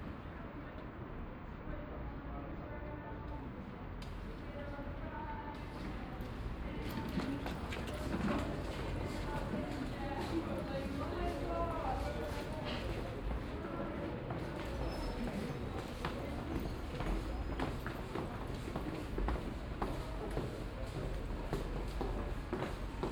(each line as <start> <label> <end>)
4.4 voices 23.1
5.6 train arrives 23.1
5.6 steps at the stairways to the platform 23.1